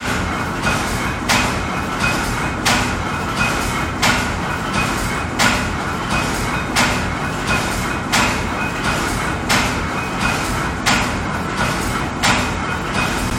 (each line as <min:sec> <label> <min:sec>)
0:00.0 Lace machine 0:13.3